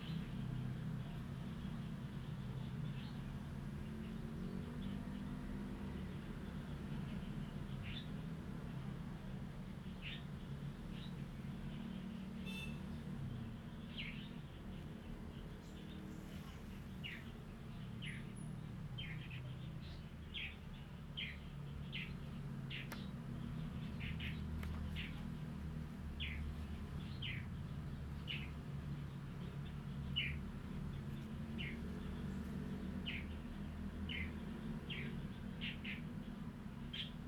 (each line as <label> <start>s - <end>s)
Birds singing 9.7s - 37.2s
Traffic Sound 11.4s - 37.2s